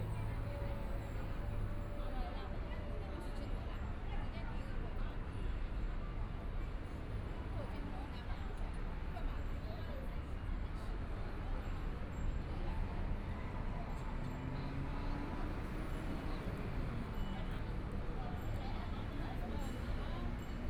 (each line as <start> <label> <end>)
0.0 Traffic Sound 2.1